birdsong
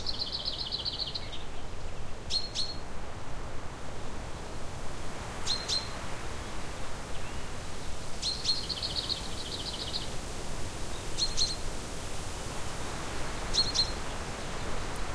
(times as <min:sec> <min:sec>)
0:00.0 0:01.6, 0:08.2 0:10.1, 0:13.5 0:14.9